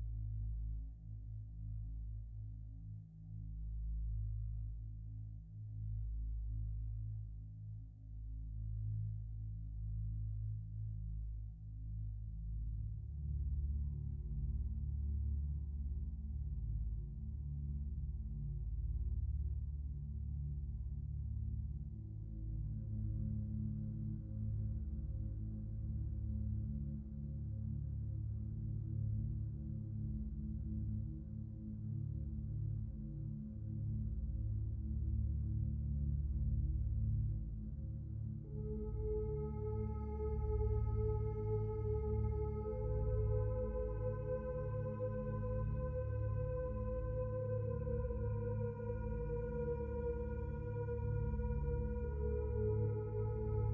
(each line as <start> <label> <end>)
9.1 synthesizer 53.7